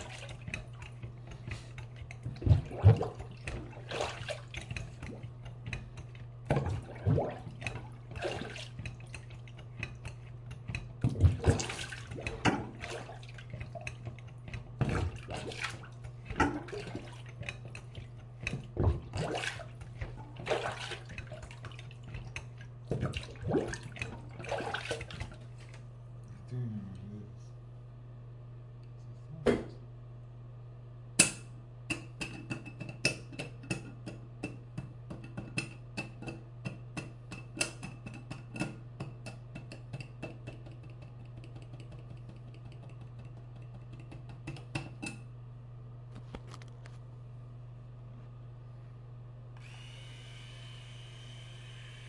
electric razor 0:49.6 - 0:52.0

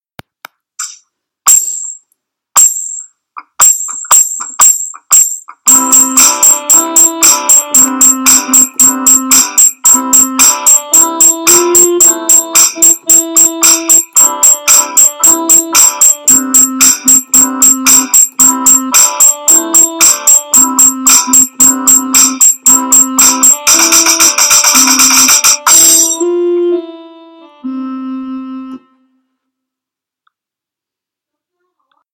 guitar 0:03.4 - 0:26.2

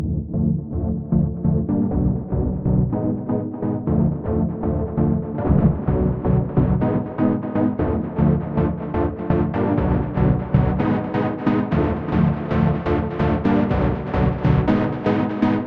Synth stabs 0:05.4 - 0:06.8

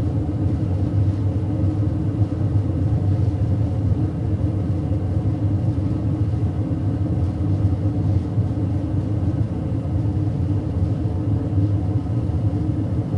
Gas fired bronze furnace with electric bellows 0:00.0 - 0:13.1

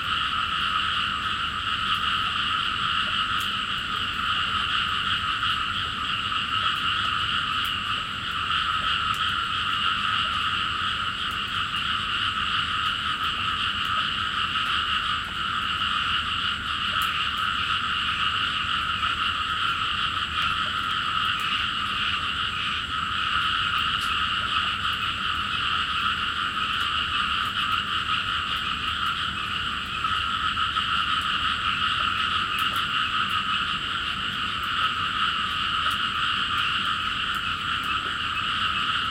Frogs in the Ricefields 0:00.0 - 0:39.1

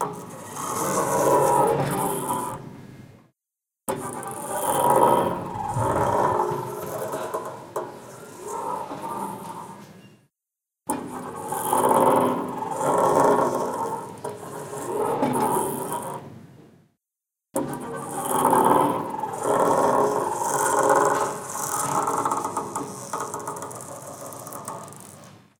Automatic glass door at an airport terminal opening and closing, noisy bearings 0:00.0 - 0:02.6
Automatic glass door at an airport terminal opening and closing, noisy bearings 0:03.9 - 0:10.2
Automatic glass door at an airport terminal opening and closing, noisy bearings 0:10.9 - 0:16.2
Automatic glass door at an airport terminal opening and closing, noisy bearings 0:17.6 - 0:25.5

